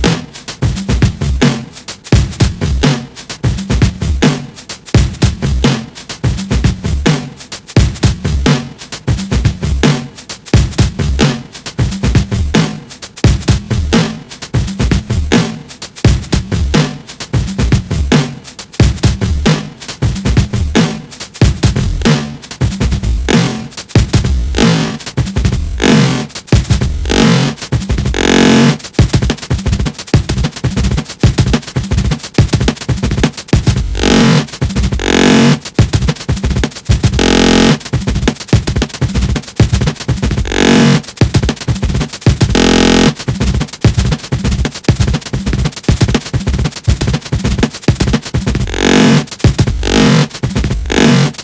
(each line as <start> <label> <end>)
33.9 fine glitchyness 34.4
37.2 fine glitchyness 37.8
42.6 fine glitchyness 43.1